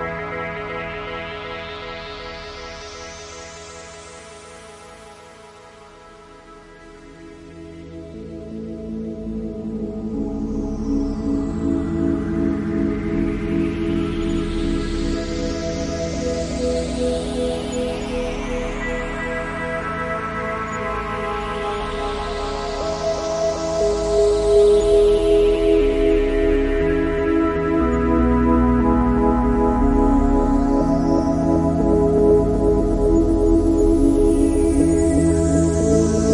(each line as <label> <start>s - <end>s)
synth 6.6s - 36.3s